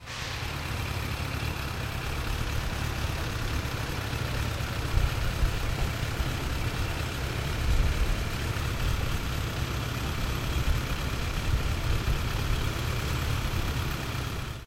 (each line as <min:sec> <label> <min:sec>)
0:00.0 vehicles-engine 1 0:14.6